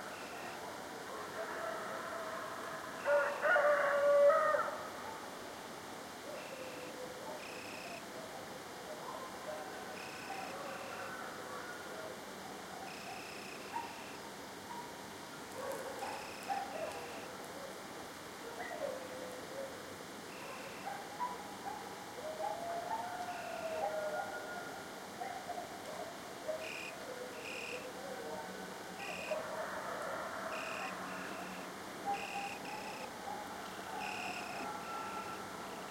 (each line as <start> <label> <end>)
0.0 crickets 0.7
6.3 crickets 8.1
10.0 crickets 11.3
12.5 dog barks 14.1
12.9 crickets 14.8
15.6 dog barks 17.8
16.0 crickets 17.3
20.2 crickets 21.2
20.3 dog barks 24.6
22.2 coyote packs howling 25.6
23.3 crickets 23.8
26.6 crickets 27.9
29.0 crickets 29.4
29.0 dog barks 35.4
30.5 crickets 33.1
33.9 crickets 35.9